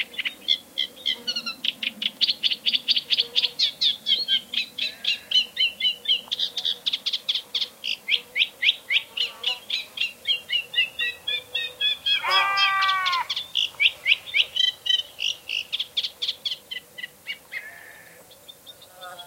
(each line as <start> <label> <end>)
0.0 Reed Warblers singing 19.2
0.0 bees 19.2
12.1 sheep 13.3